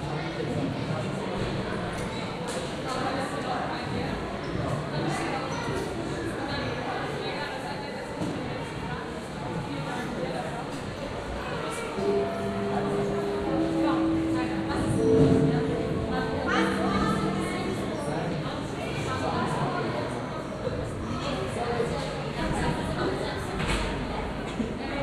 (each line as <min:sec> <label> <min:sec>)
0:12.0 school gong 0:20.8